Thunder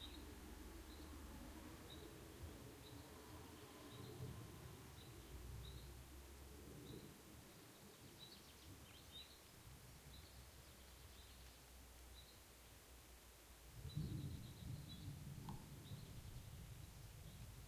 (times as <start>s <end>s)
13.8s 16.6s